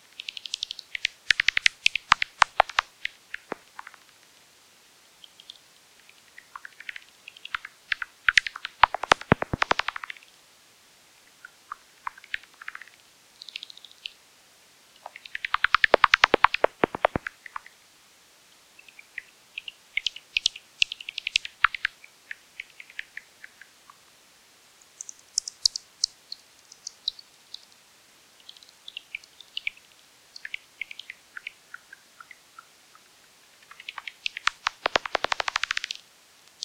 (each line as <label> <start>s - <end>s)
Bats 0.2s - 4.0s
Bats 6.4s - 10.2s
Bats 15.0s - 17.7s
Bats 33.6s - 36.0s